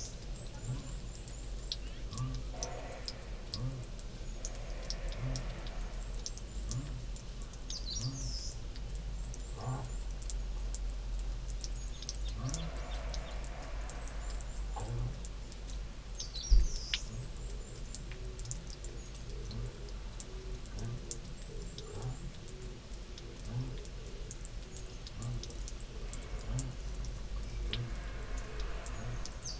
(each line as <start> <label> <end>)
11.0 wind through nearby fur trees 29.5